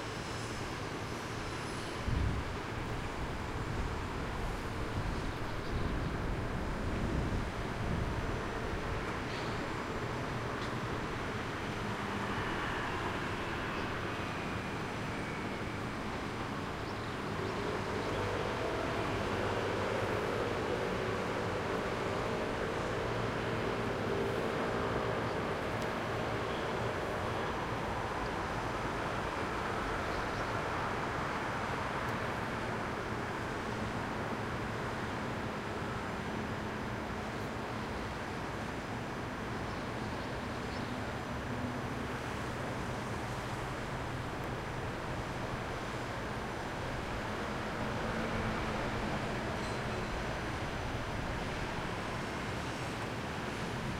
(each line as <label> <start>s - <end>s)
TRAFFIC 0.0s - 53.9s